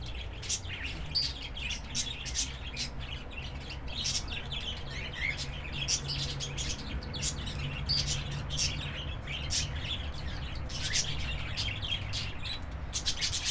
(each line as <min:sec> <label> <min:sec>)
0:00.1 Australian parrots 0:13.5